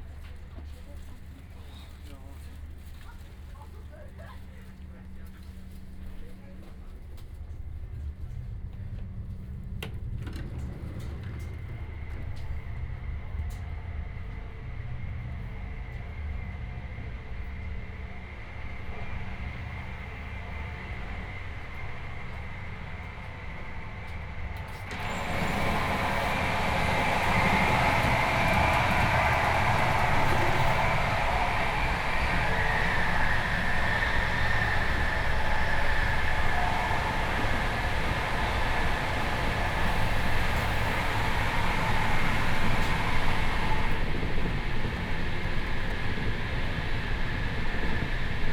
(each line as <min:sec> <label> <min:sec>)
0:00.0 old and noisy IC train 0:48.5